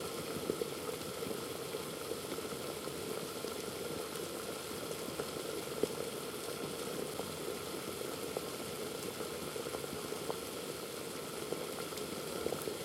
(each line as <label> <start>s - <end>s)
Boiling water on a stove 0.0s - 12.8s